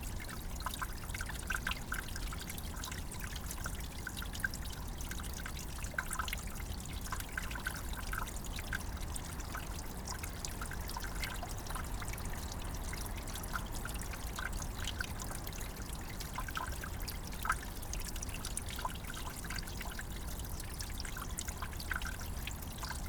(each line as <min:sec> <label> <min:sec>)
0:00.0 Little Stream water under an ice cover 0:23.0